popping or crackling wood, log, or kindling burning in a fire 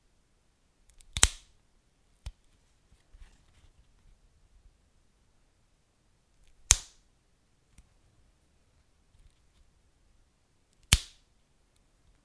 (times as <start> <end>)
1.1 1.4